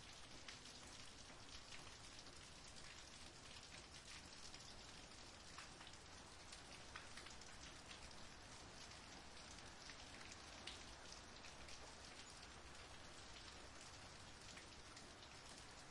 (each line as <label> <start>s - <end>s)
Rain 0.0s - 15.9s